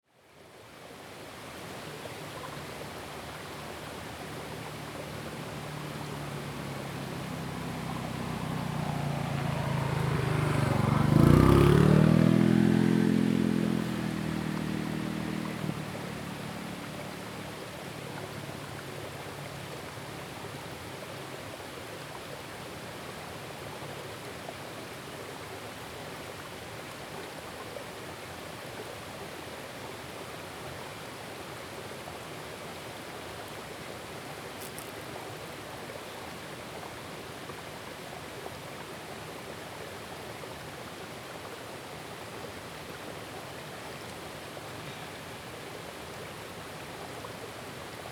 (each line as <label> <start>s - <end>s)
stream sound 0.0s - 48.1s
traffic sound 3.7s - 20.1s